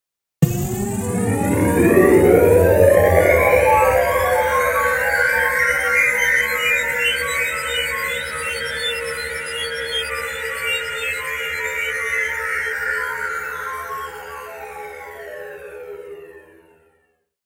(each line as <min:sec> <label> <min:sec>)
0:00.4 spacecraft leaving it’s base 0:08.4